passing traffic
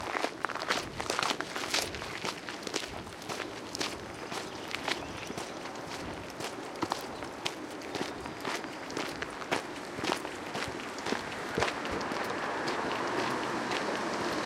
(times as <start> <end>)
2.9 14.4